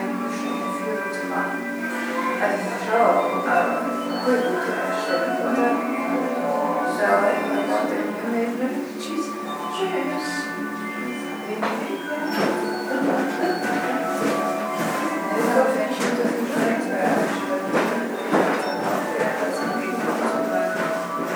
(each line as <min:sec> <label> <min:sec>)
0:00.0 mechanische musikinstrumente 0:21.3